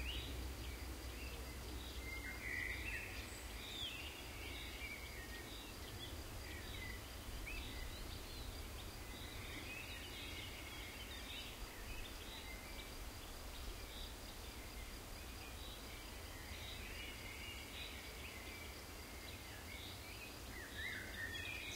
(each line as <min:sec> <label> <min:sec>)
0:00.0 very mild storm can be heard in the background 0:21.6
0:00.0 birds 0:21.7
0:00.0 insects 0:21.7